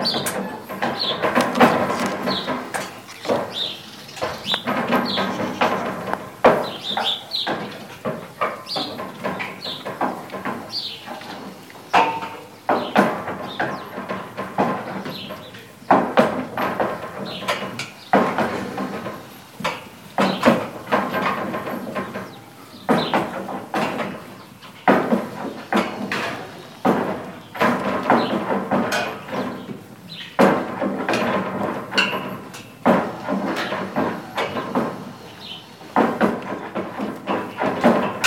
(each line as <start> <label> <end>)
0.0 Ziegen in ihrem Stall 38.2